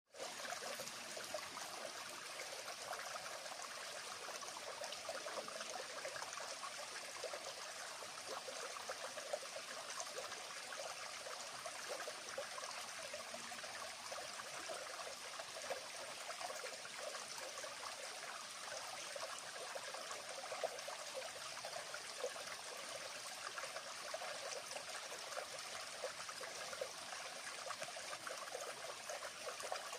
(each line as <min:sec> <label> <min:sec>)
0:00.1 Small Stream 0:29.9